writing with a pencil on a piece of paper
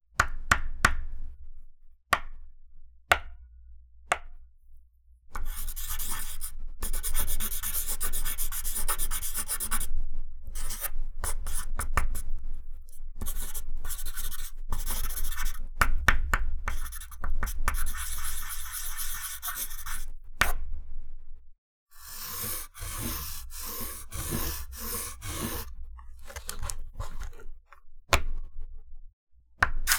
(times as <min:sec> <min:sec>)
0:05.4 0:09.9, 0:10.5 0:15.7, 0:16.6 0:20.1, 0:21.9 0:27.5